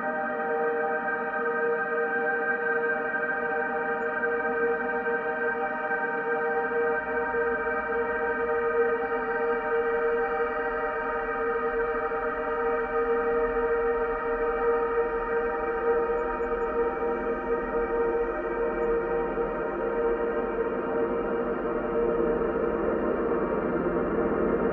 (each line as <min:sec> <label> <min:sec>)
0:00.0 slowly evolving ambient drone pad 0:24.7